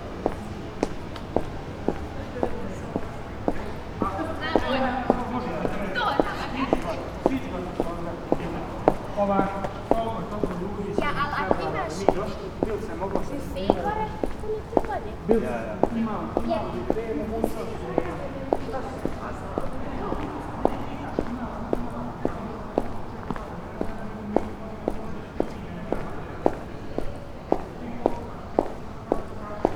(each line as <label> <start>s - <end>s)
green boots, walking 15.8s - 29.7s